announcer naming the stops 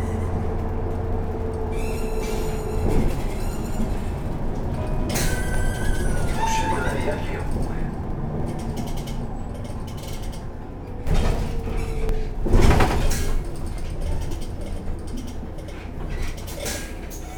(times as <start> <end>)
6.0 8.0